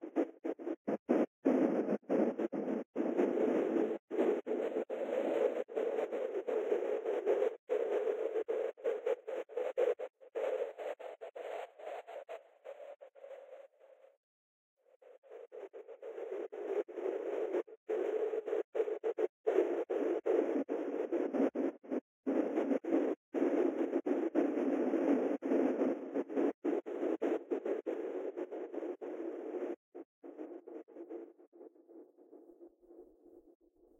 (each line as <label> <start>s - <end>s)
Fragmented Wind Sound 0.0s - 14.0s
Fragmented Wind Sound 15.0s - 31.3s